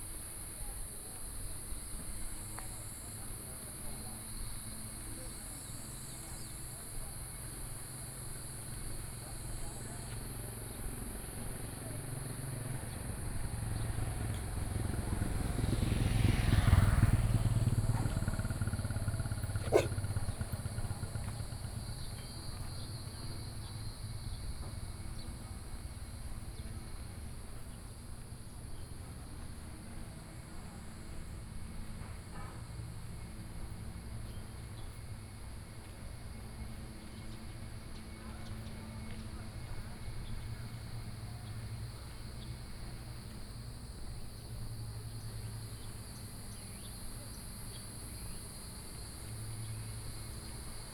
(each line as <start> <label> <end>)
13.6 Traffic Sound 21.8
19.4 Walking 20.5